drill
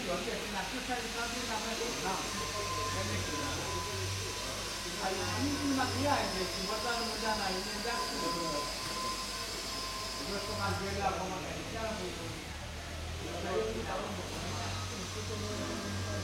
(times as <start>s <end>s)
0.0s 12.5s